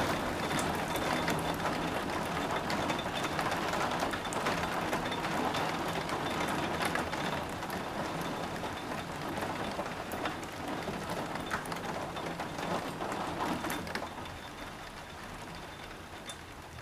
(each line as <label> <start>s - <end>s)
heavy rain shower 0.0s - 16.8s